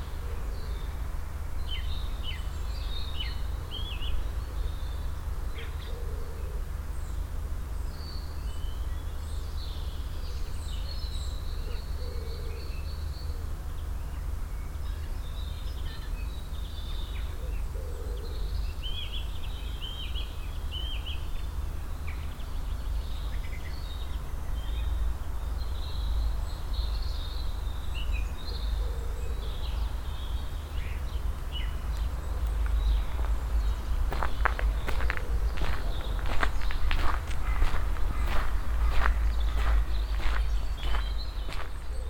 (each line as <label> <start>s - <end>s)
vivid birds in the trees and bushes 0.0s - 42.0s
steps on the stony passway 31.5s - 42.0s